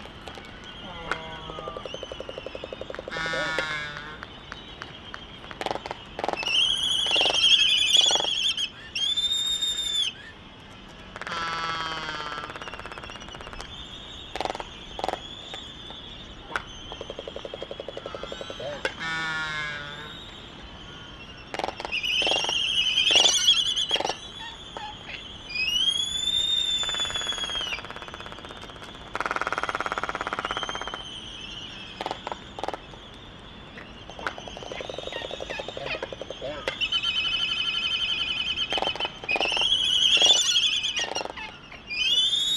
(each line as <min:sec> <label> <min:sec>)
0:00.0 Laysan albatross dancing 0:08.4
0:33.7 Laysan albatross dancing 0:36.9